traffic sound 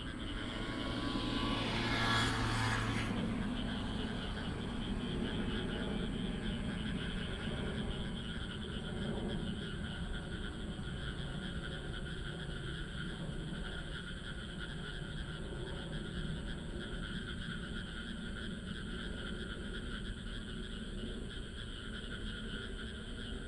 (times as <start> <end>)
0.0 7.4